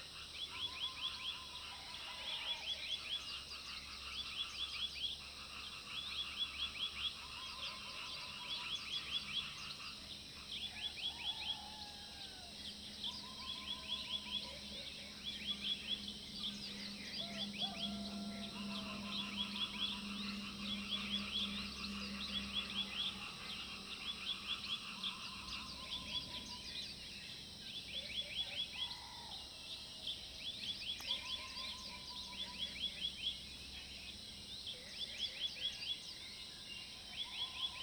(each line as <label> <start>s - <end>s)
Bird calls 10.6s - 27.1s
Bird calls 30.5s - 35.9s